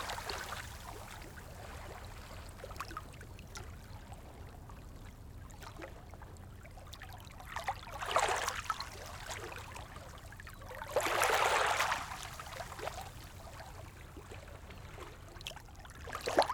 Small waves stoney beach 0.0 - 2.5
Small waves stoney beach 10.9 - 13.8

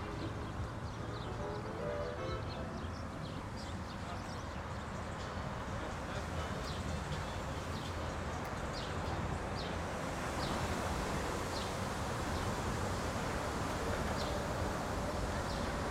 people enjoying the park with personal speakers 0.0 - 11.8

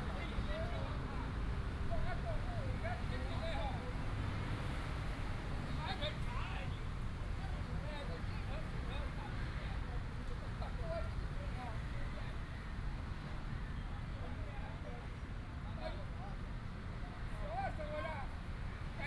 Traffic sound 0.0 - 19.0

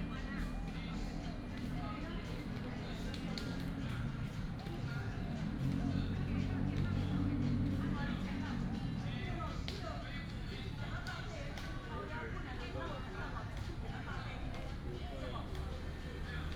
elderly people are doing aerobics 0.0 - 16.5

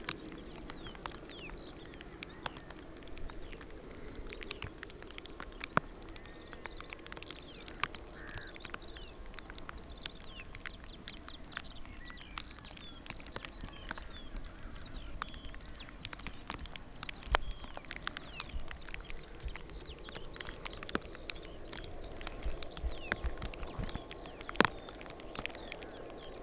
Rain on hood 0.0 - 26.4

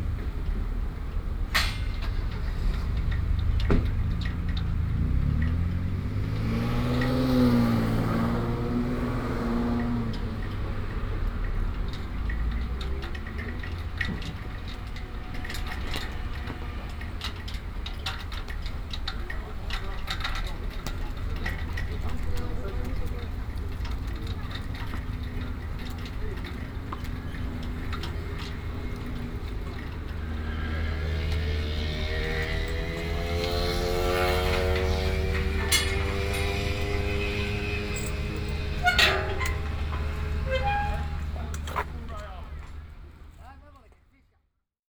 traffic 0.0 - 44.5
flags 32.1 - 42.8

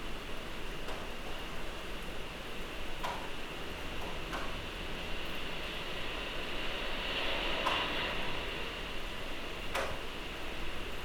rain 0.0 - 11.0

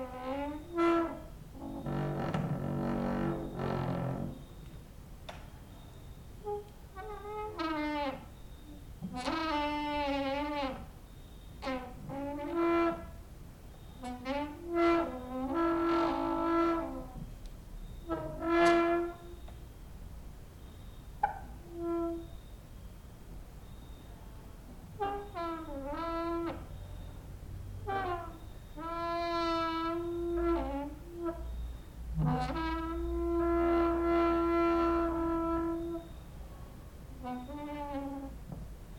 creaking with wooden doors 0.0 - 19.7
cricket outside 5.4 - 6.6
cricket outside 7.7 - 12.1
cricket outside 13.7 - 14.3
cricket outside 20.6 - 24.3
creaking with wooden doors 20.6 - 22.5
creaking with wooden doors 24.7 - 27.2
cricket outside 25.0 - 27.3
creaking with wooden doors 27.8 - 36.3
cricket outside 28.3 - 32.2
cricket outside 33.0 - 36.4
creaking with wooden doors 37.1 - 38.7

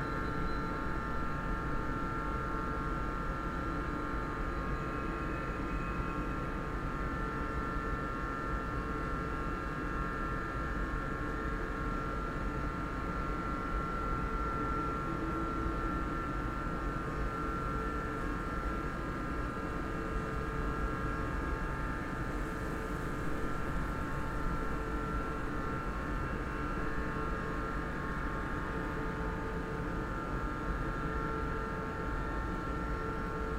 office building air conditioning 0.0 - 33.5

